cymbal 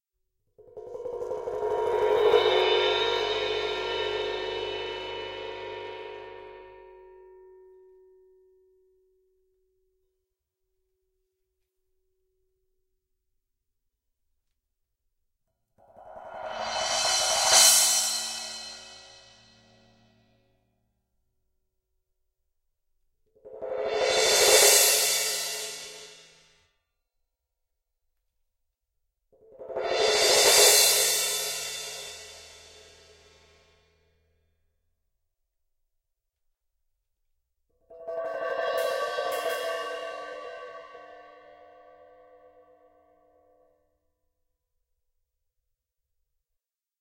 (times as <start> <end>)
1.2 7.0, 16.0 20.2, 23.9 26.4, 29.8 33.8, 38.2 41.9